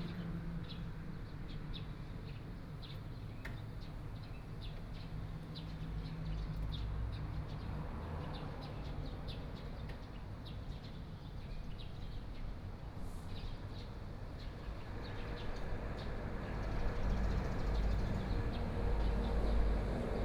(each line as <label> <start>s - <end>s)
Traffic Sound 12.9s - 20.2s